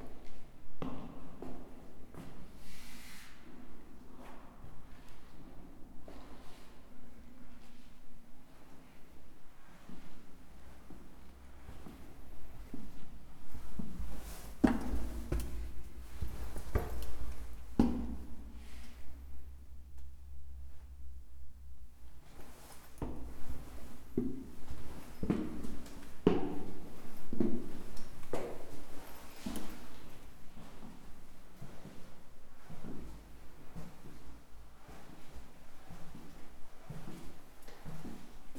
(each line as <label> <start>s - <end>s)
Walking through the crypts 3.8s - 38.5s